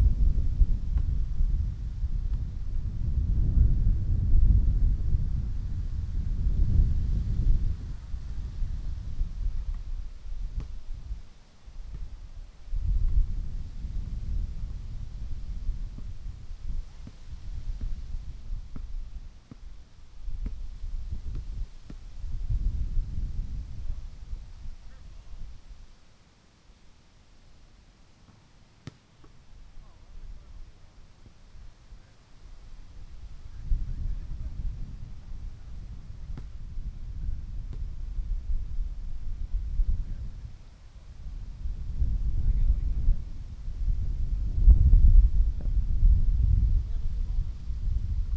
0.0s wind 48.3s
9.7s volleyball 11.2s
15.4s volleyball 22.2s
28.2s volleyball 29.5s
28.2s basketball 29.5s
35.6s basketball 38.0s
35.7s volleyball 36.8s
37.6s volleyball 38.0s

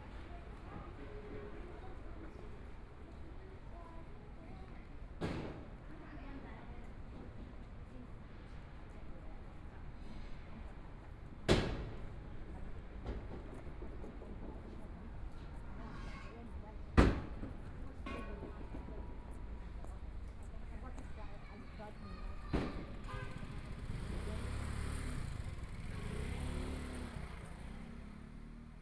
0.0s Pedestrians 28.8s
8.9s Construction site sounds 28.8s
10.0s Traffic Sound 28.8s
23.4s Motorcycle Sound 28.8s

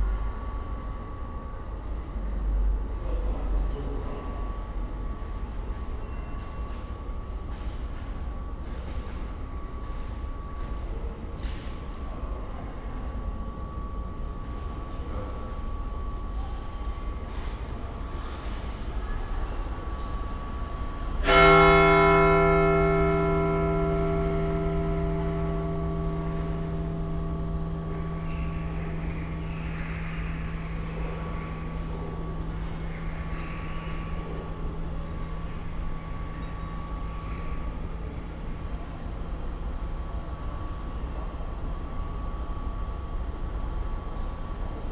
21.2s churchbell stroke 32.6s

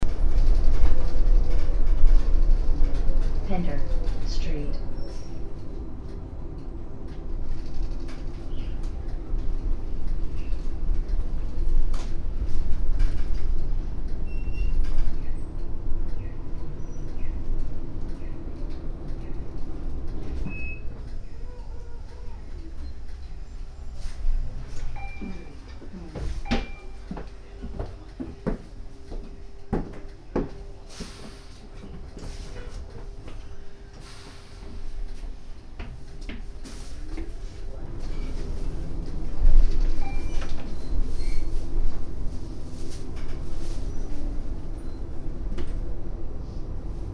0.0s bus drive 47.1s
2.9s automatic voice announcing the next bus stops 5.4s
20.8s automatic voice announcing the next bus stops 23.2s
24.0s automatic voice announcing the next bus stops 28.4s
36.7s automatic voice announcing the next bus stops 40.4s

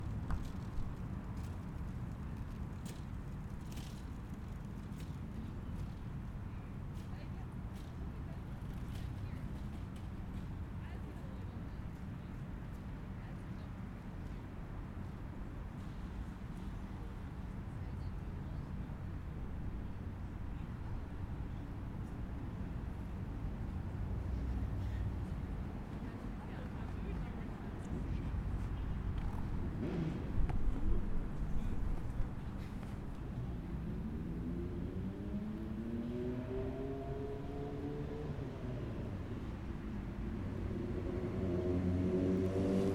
18.7s cars 42.9s

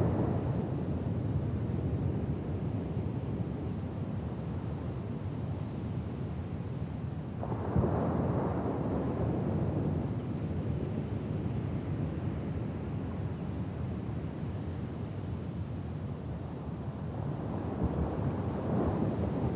17.0s wind blowing over a beer bottle buried in the sand 19.5s

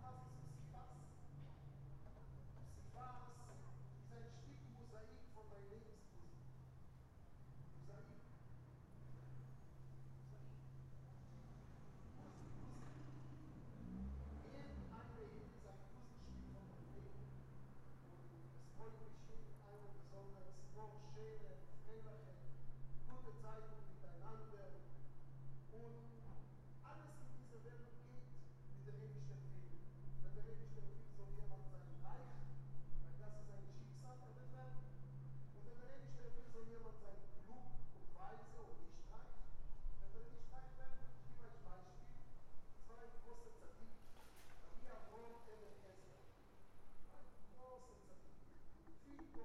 0.0s echoes of the street 49.4s
6.4s car noises 18.8s

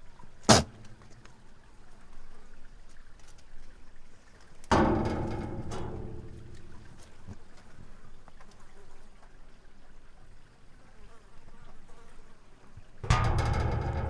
0.5s goat banging on a metal door 0.9s
4.7s goat banging on a metal door 7.0s
13.0s goat banging on a metal door 14.0s

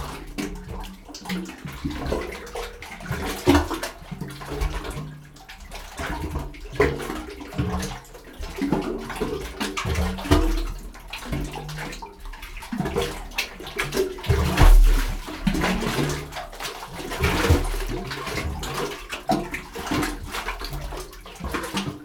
0.0s waves pumping water into the opening form underneath the rocks 22.0s

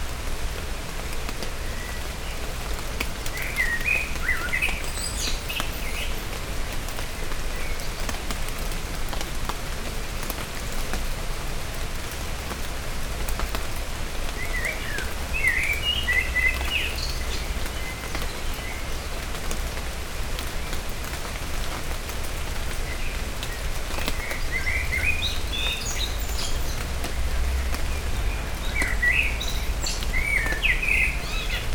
0.0s rain is falling 31.7s
1.1s blackbirds give a delicious song 8.5s
14.2s blackbirds give a delicious song 19.9s
22.6s blackbirds give a delicious song 31.7s

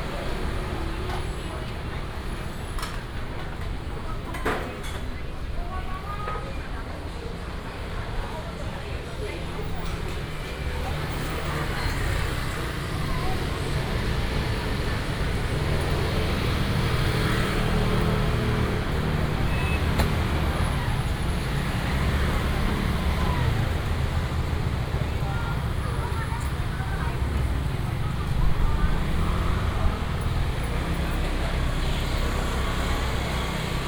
0.0s Traffic sound 33.8s
0.0s walking in the Street 33.8s

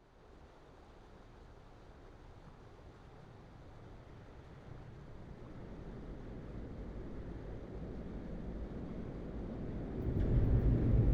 5.5s Passenger train 11.1s
9.2s freight trains 11.1s
10.0s Trains on Red Bridge 11.1s

